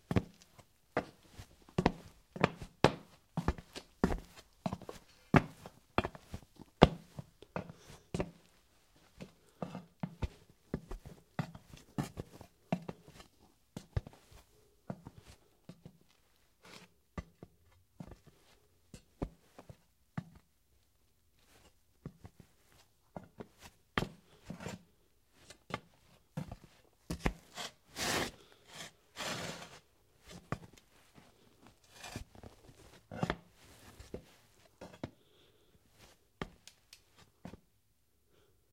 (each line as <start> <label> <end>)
0.1 woman's dress shoes walking on ceramic tile 8.4